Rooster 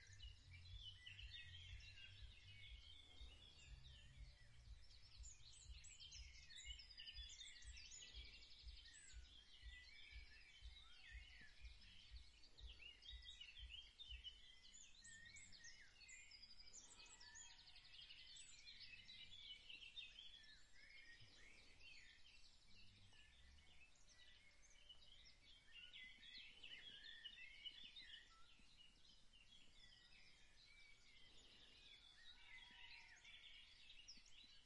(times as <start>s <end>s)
32.3s 33.6s